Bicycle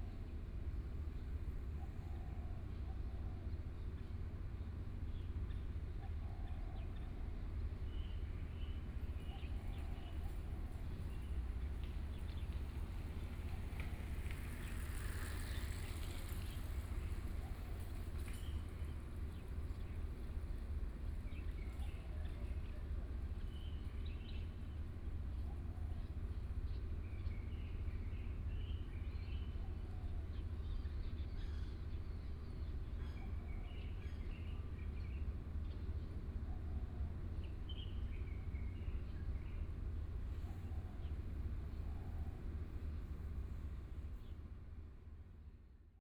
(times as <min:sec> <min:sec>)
0:10.3 0:21.7